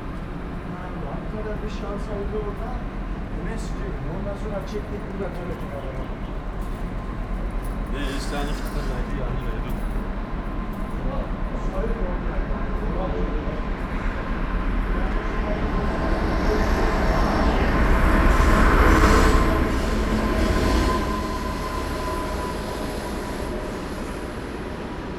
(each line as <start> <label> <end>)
0.0 freight train rushes through 25.1
0.0 suburb trains arrive and depart 25.1
0.7 people talking 6.4
7.9 people talking 9.9
11.0 people talking 14.3